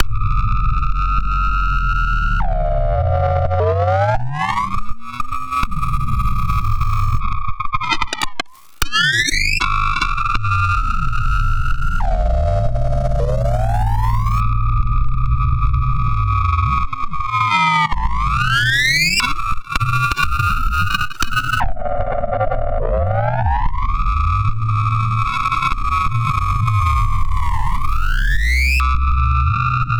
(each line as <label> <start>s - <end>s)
Optical Theremin 10.6s - 14.6s